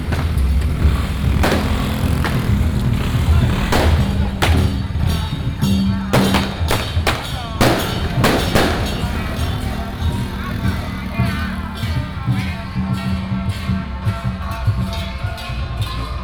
Fireworks sound 0:00.0 - 0:13.1
traffic sound 0:00.0 - 0:16.2

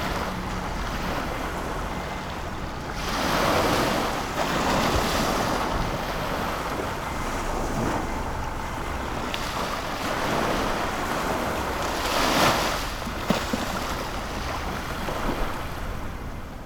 Tide 0:00.0 - 0:16.6

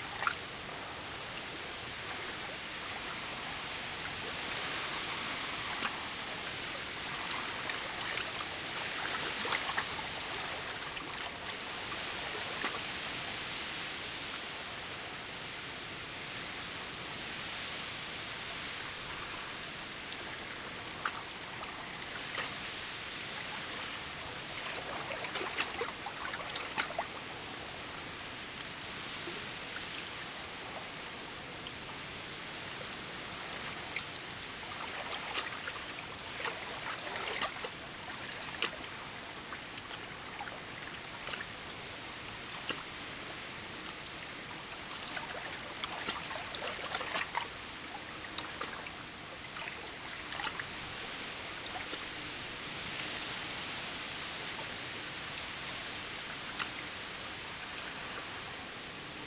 wind blows through reed 0:00.0 - 0:59.2

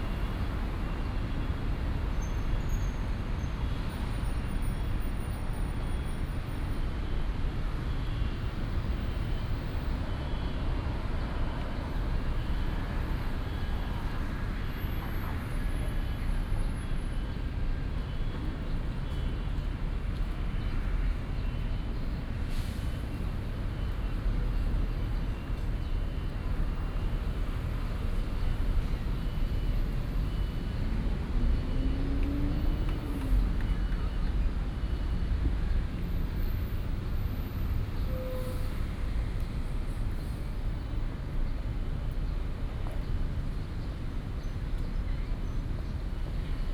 Traffic Sound 0:07.6 - 0:46.7

